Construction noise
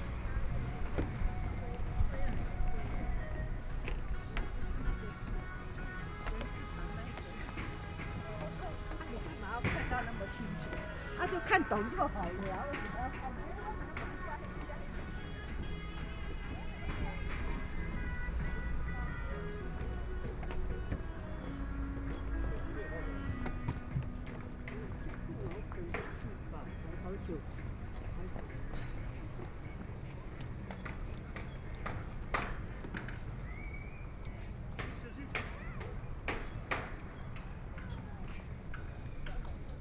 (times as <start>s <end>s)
0.0s 28.1s